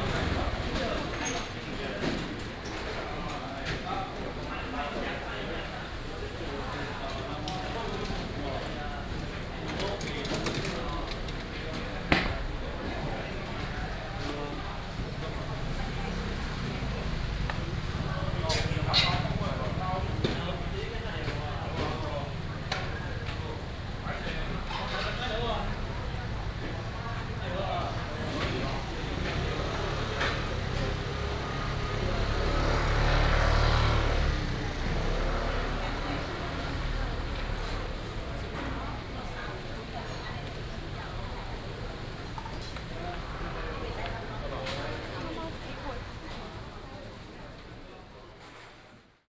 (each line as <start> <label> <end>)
0.0 traffic sound 1.6
7.6 traffic sound 48.1